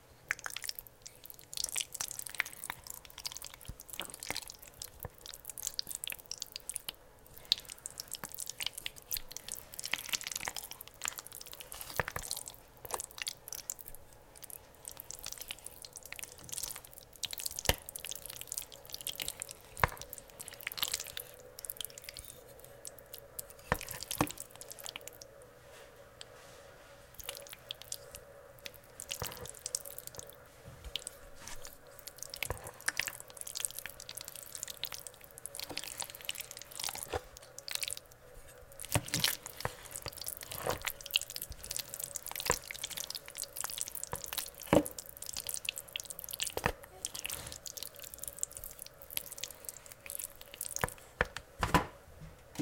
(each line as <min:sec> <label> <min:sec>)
0:00.3 stirring some very thick chili 0:25.3
0:26.2 stirring some very thick chili 0:51.1